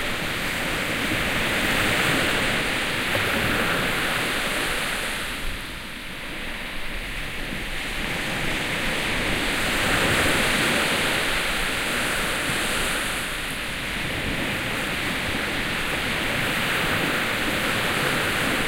Seaside Waves 0.0 - 18.6

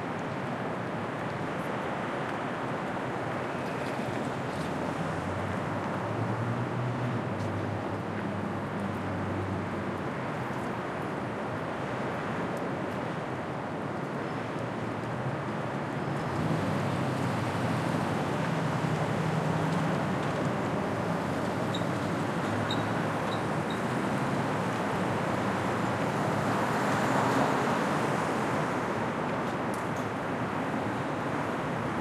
cars (mostly taxis) are underway 0.6 - 32.0

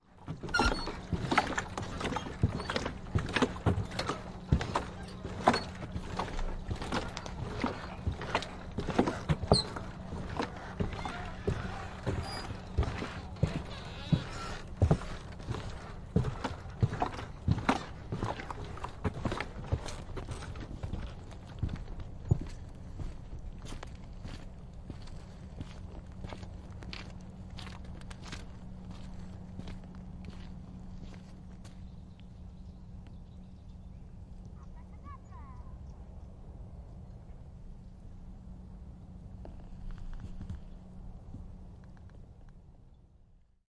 water 0.0 - 33.1
Footsteps Walking Boot Pontoon to Standstill 0.2 - 32.3
water 33.7 - 35.6

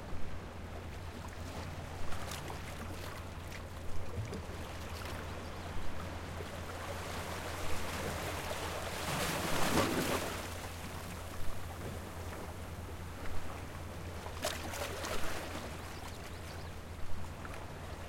Ocean water crashing and splashing between rocks 6.7 - 12.4
Ocean water crashing and splashing between rocks 14.3 - 15.8

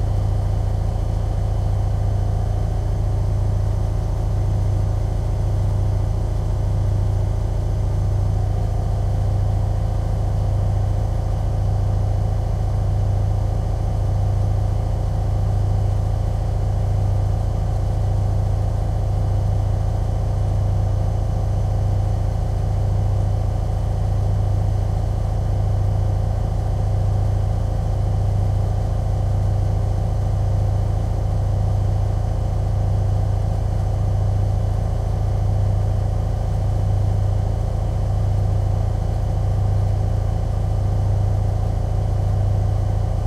working laundry machine 22.8 - 43.2

